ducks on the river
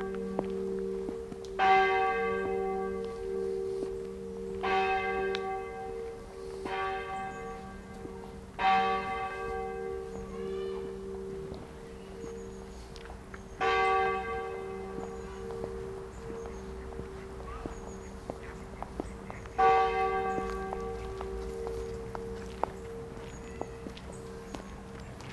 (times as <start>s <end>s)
15.2s 21.8s